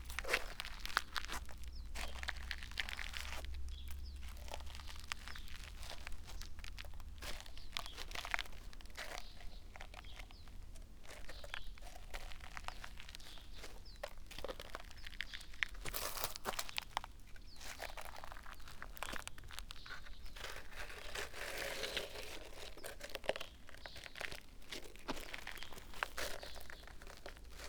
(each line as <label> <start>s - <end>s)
walking over white sand 0.0s - 27.6s